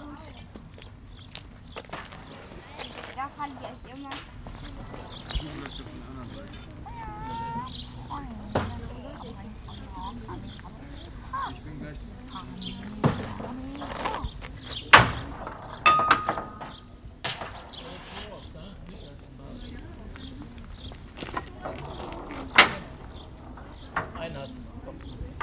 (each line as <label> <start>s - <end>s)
Voices 0.0s - 25.4s
birds 0.0s - 25.4s